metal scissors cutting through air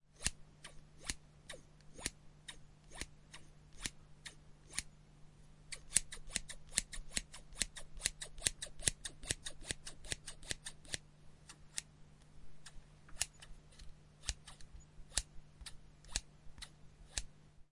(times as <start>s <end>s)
5.7s 11.9s